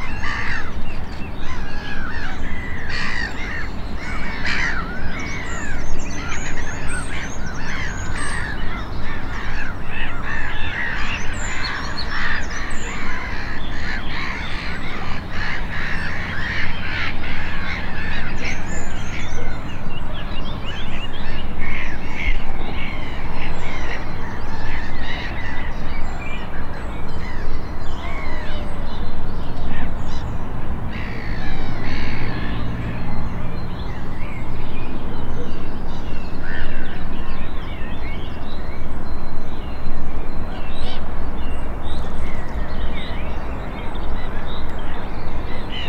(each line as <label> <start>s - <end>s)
black-headed gulls 0.0s - 19.8s
black-headed gulls 21.2s - 25.8s
black-headed gulls 30.9s - 33.3s